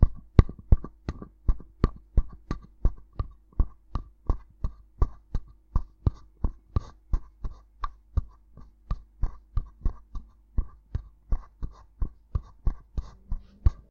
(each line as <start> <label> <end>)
10.2 Footsteps 13.9